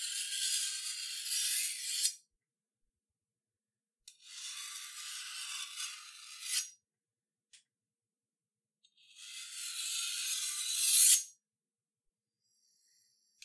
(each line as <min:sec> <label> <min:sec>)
0:09.2 Sharpening Knife Menacingly 0:11.3